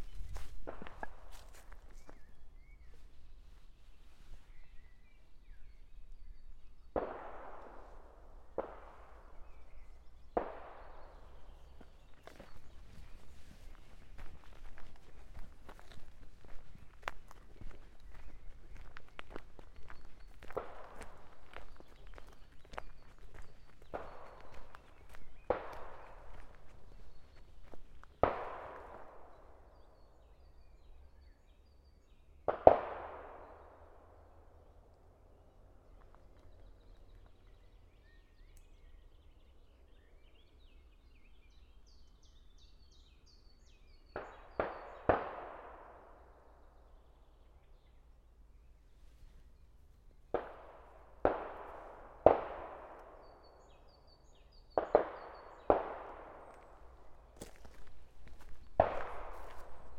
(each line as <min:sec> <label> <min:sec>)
0:00.0 Walking 0:04.5
0:11.1 Walking 0:29.1
0:55.7 Walking 0:59.9